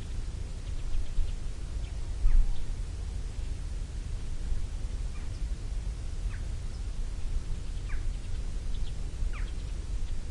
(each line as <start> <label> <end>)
0.0 low dronelike noise 10.3
0.0 wind 10.3
7.7 Different birds 10.2